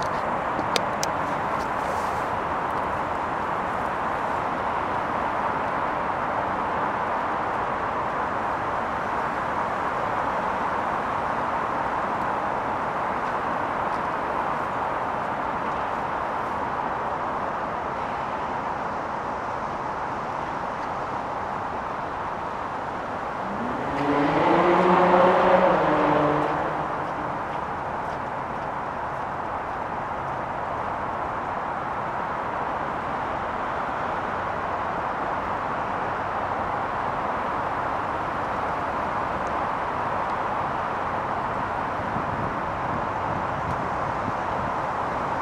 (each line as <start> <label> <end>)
0.0 passing cars 45.4